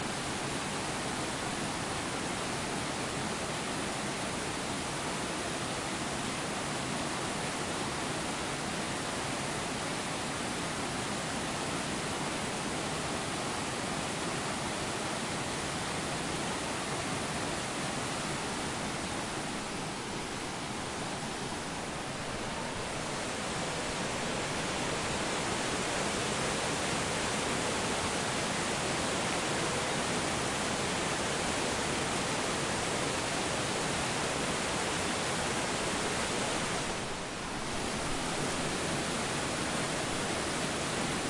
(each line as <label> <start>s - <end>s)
rushing stream 0.0s - 41.2s